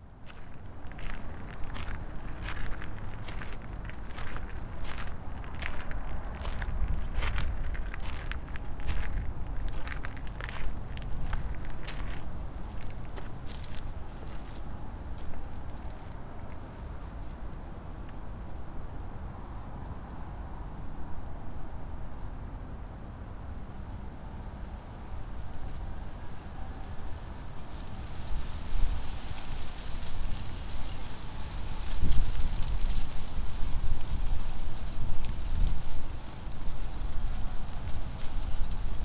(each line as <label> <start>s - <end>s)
winds through lotus leaves 0.0s - 18.6s
winds through lotus leaves 25.0s - 39.0s